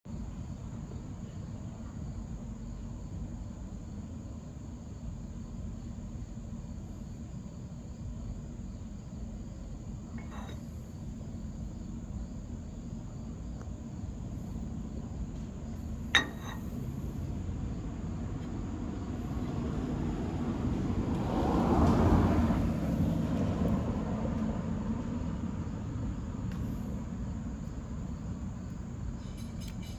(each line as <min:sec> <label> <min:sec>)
0:10.2 clinking of a glass or plate 0:10.8
0:16.1 clinking of a glass or plate 0:16.8